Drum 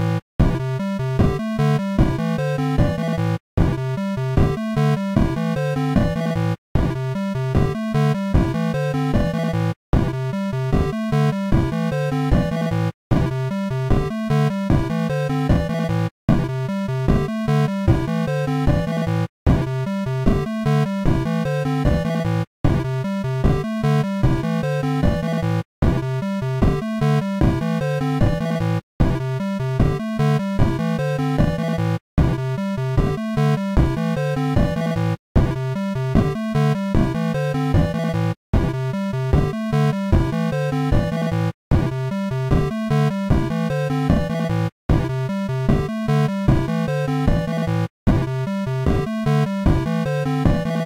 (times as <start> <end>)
18.7 19.7, 31.4 32.4, 35.4 36.4, 41.0 42.7, 47.3 49.1